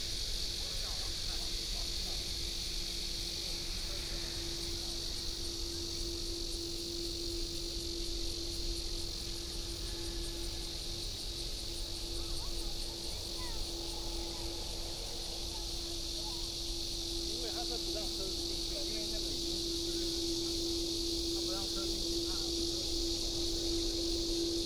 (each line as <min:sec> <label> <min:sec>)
0:00.0 Cicadas 0:24.6